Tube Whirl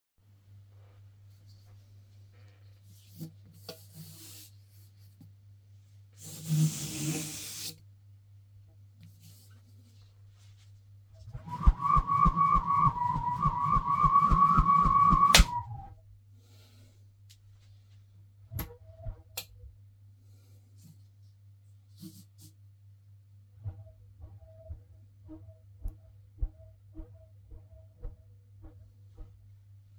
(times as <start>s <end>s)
11.3s 15.9s